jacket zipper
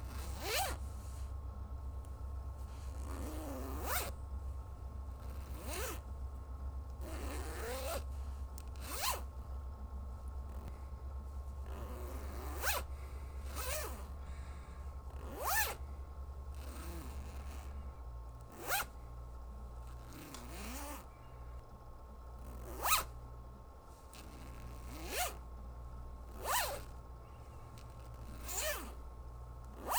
0.0s 0.8s, 2.7s 4.1s, 5.2s 6.0s, 7.0s 8.0s, 8.8s 9.3s, 11.7s 14.1s, 15.2s 15.8s, 16.6s 17.7s, 18.5s 18.9s, 20.0s 21.0s, 22.5s 23.1s, 24.2s 25.4s, 26.3s 26.9s, 28.0s 29.0s, 29.8s 29.9s

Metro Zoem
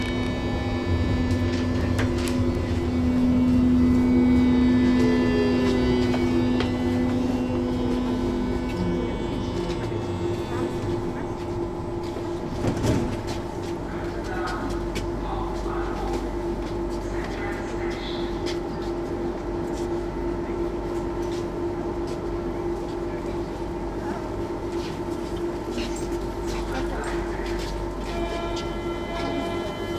0.0s 13.9s

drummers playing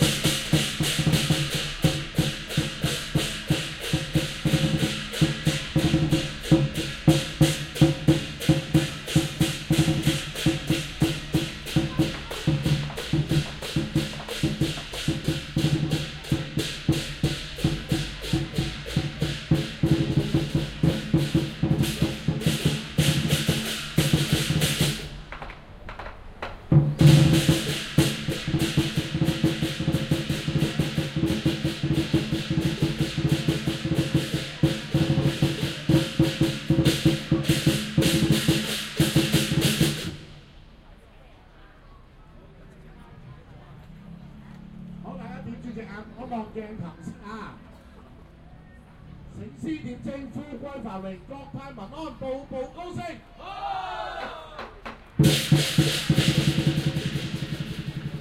0.0s 40.5s, 54.0s 58.2s

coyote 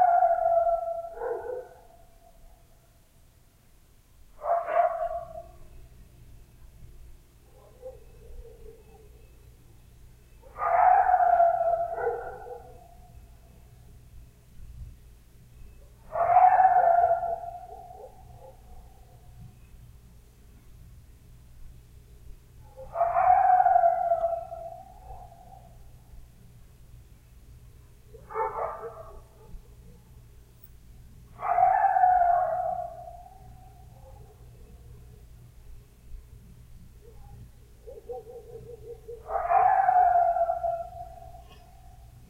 7.4s 14.0s, 15.6s 19.8s, 22.7s 26.2s, 28.1s 35.3s, 37.0s 42.2s

